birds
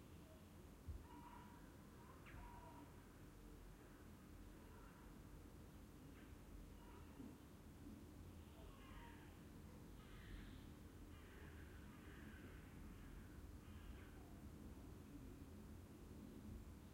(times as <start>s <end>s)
1.0s 3.0s